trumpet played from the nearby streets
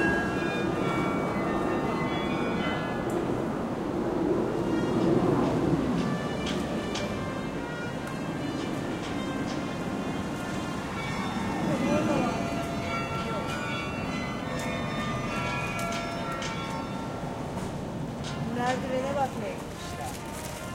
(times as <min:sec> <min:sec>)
0:04.4 0:13.0, 0:19.2 0:20.7